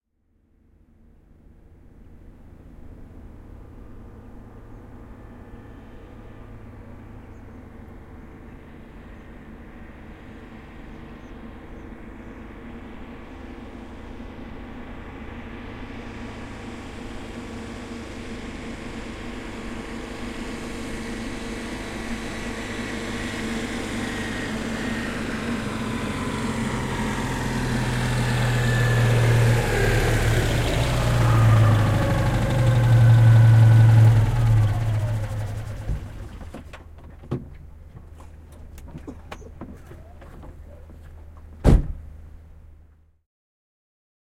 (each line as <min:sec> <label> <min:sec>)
0:00.9 A car approaching, stopping, shutting down 0:43.1
0:41.6 car door 0:42.1